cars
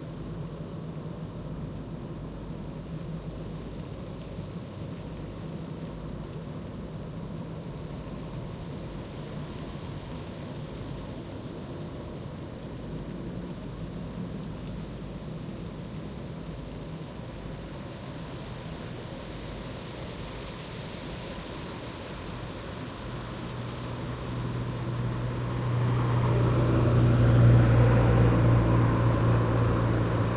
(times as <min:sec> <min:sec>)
0:22.7 0:30.3